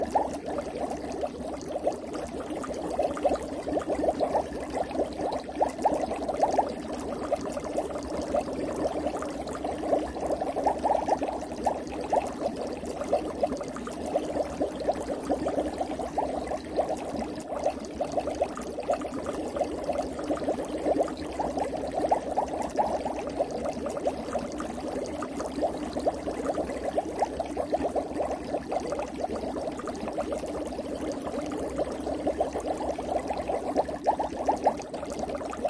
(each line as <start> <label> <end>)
0.0 boiling water with a lot of bubbles 35.6